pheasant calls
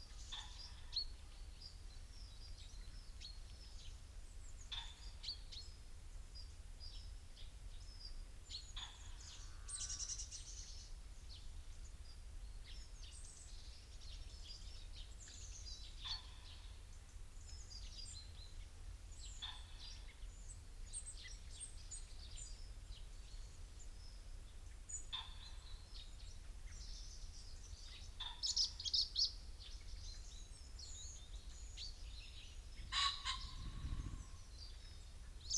0.1s 1.2s, 4.4s 5.7s, 8.5s 10.5s, 15.2s 22.7s, 23.8s 35.5s

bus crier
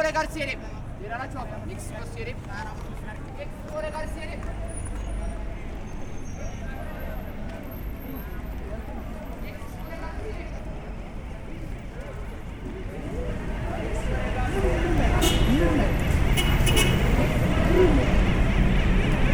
15.0s 19.3s

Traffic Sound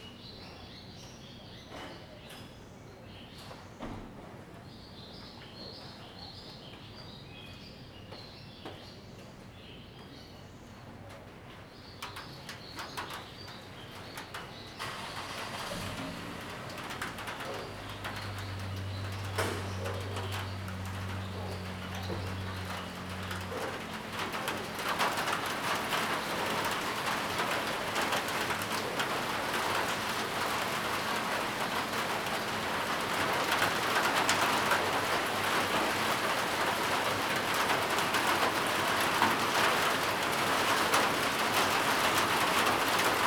14.8s 43.2s

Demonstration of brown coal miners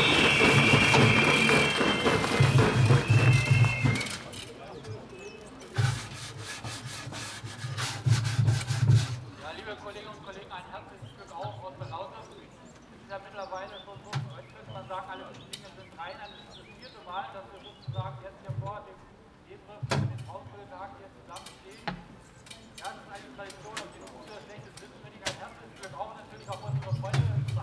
19.6s 27.6s

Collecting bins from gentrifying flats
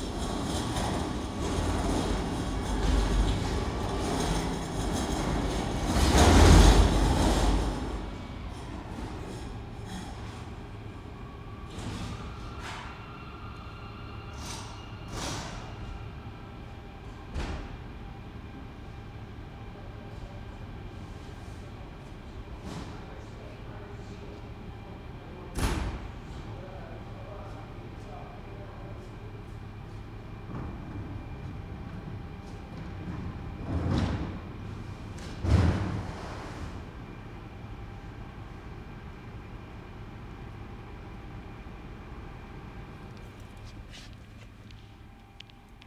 0.0s 8.6s

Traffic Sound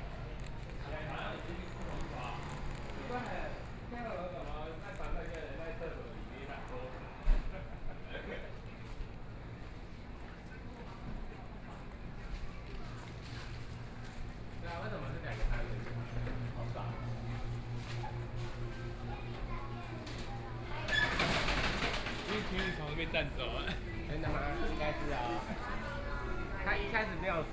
0.2s 3.9s

